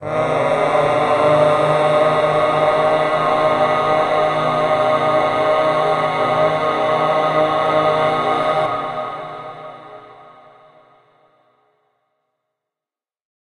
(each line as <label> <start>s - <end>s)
my voice singing 0.0s - 10.7s